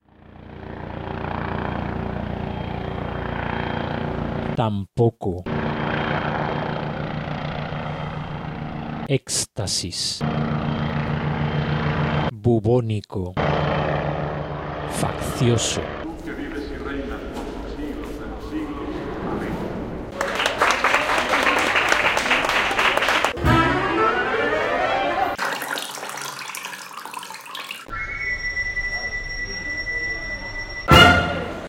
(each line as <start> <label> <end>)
0.0 copter 4.6
5.5 copter 9.1
10.2 copter 12.3
13.4 copter 16.1
20.1 clapping hands 23.4
23.3 musical instruments 25.4
25.4 dripping of water 27.9
27.9 whistle 31.6